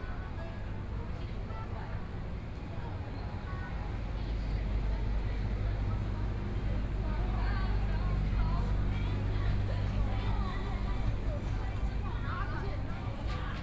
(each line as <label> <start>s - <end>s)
young people shopping 0.0s - 13.6s